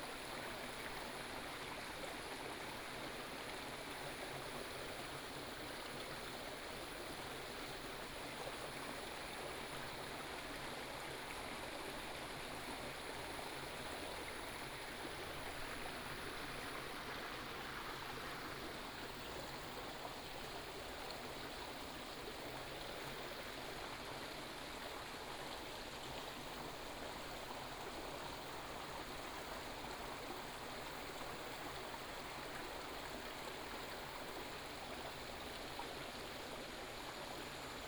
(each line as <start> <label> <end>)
0.0 stream 37.8